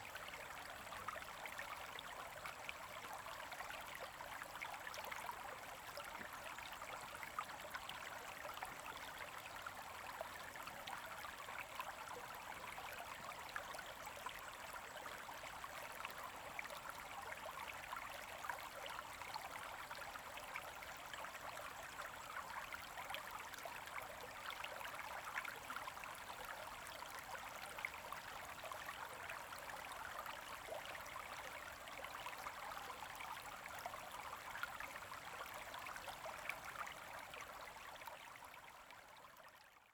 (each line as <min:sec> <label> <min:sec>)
0:00.0 Small streams 0:39.9